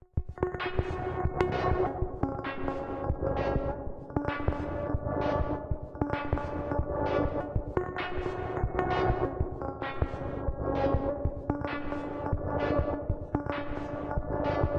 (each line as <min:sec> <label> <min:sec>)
0:00.2 Drums 0:14.7
0:00.4 Bass 0:14.7